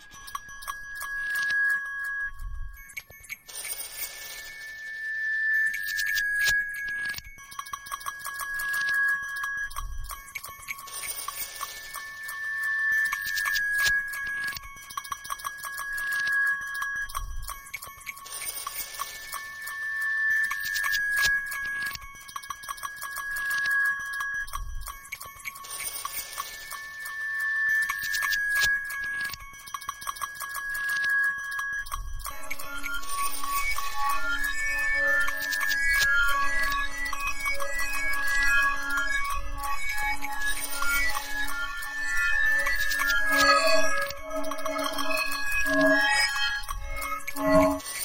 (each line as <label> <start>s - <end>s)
bell 0.0s - 48.0s
glass 0.0s - 48.0s
coin 0.2s - 1.8s
coin 2.9s - 5.0s
coin 5.7s - 9.2s
coin 10.3s - 48.0s